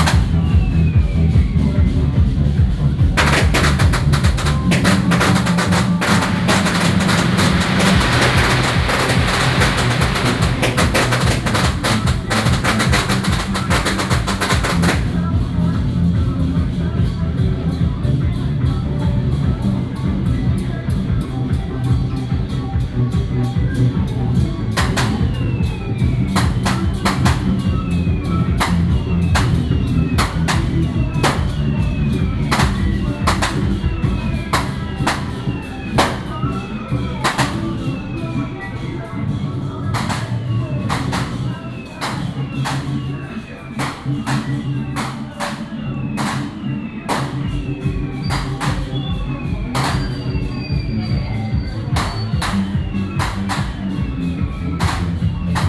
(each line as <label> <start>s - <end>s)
Firecrackers sound 0.0s - 18.3s
Walking in the temple 0.0s - 55.6s
Firecrackers sound 19.3s - 55.6s